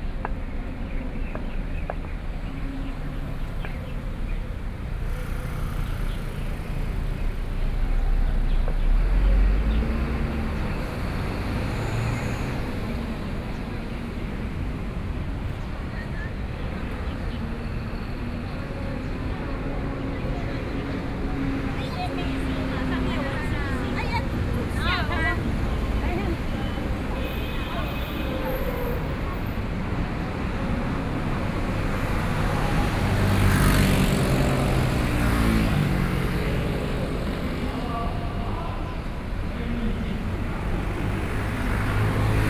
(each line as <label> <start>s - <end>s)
Traffic Noise 0.0s - 42.4s
walking in the street 0.0s - 42.4s
protest marches distant sound 20.3s - 42.4s